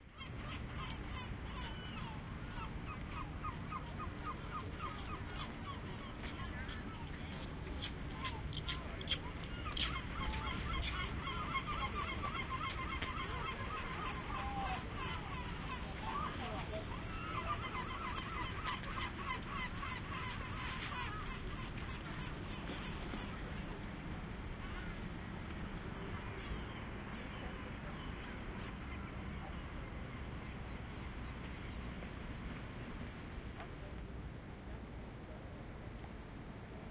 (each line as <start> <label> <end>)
0.2 birds 23.8